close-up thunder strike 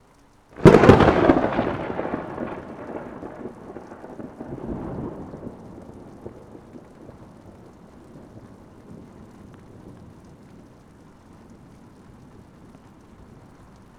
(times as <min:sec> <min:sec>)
0:00.6 0:07.3